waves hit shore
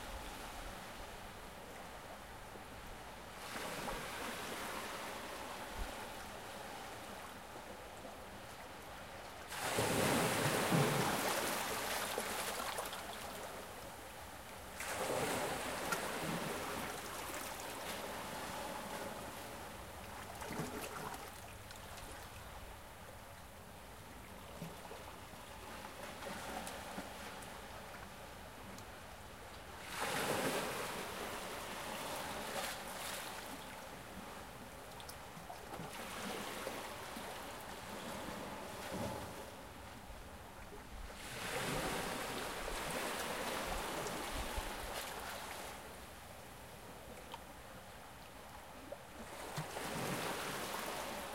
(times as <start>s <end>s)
9.5s 13.4s, 14.8s 19.2s, 29.8s 33.6s